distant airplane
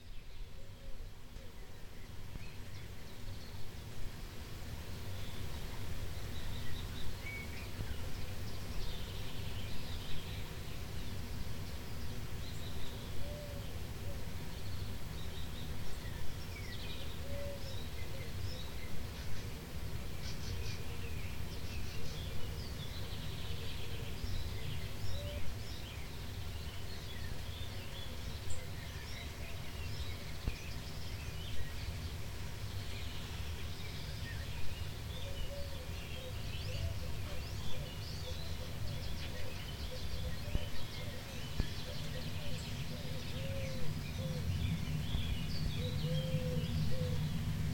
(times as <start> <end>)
41.0 47.7